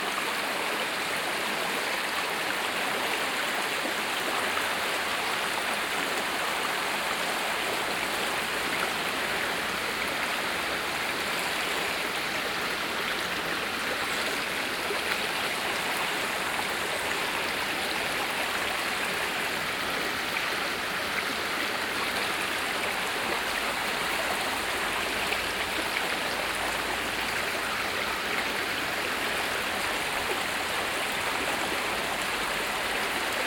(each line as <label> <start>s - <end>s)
River 0.0s - 33.4s